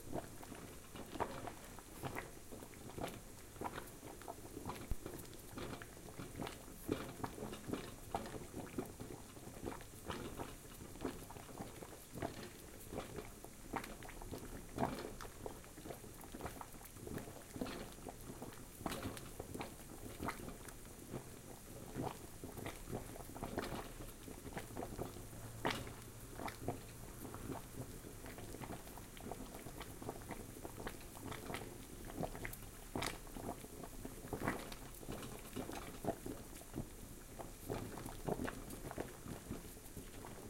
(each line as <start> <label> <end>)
0.0 Boiling Water 40.4